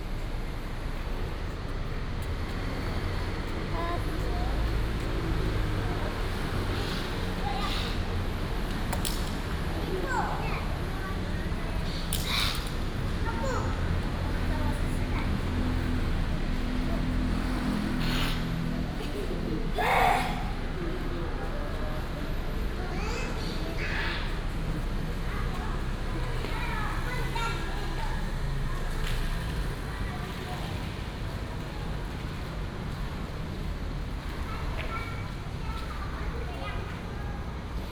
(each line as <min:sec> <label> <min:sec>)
0:00.0 Traffic Sound 0:37.9
0:00.0 Children were playing 0:37.9